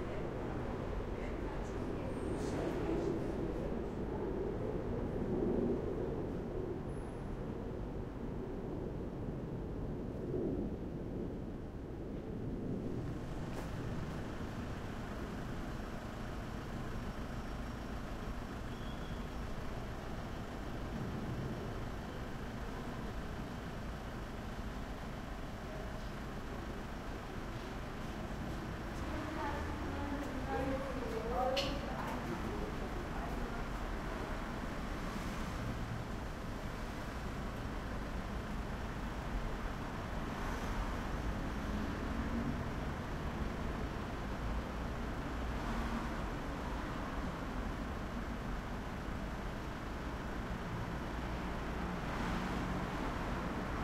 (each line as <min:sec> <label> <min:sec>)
0:00.0 buses 0:53.8
0:13.0 trucks 0:53.8
0:21.5 People walking past 0:34.6
0:33.6 cars driving past 0:37.6
0:50.4 cars driving past 0:53.8